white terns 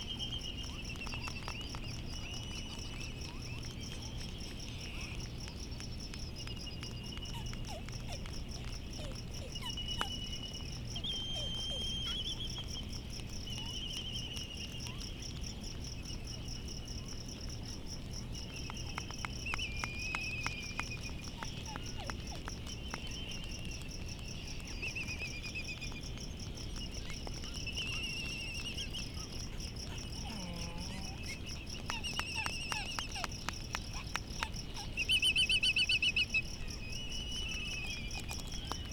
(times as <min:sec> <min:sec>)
0:18.8 0:38.9